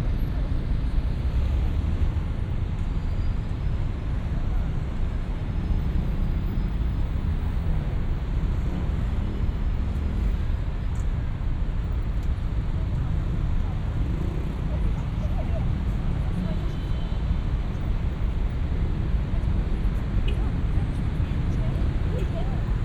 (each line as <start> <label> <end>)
0.0 evening traffic 22.8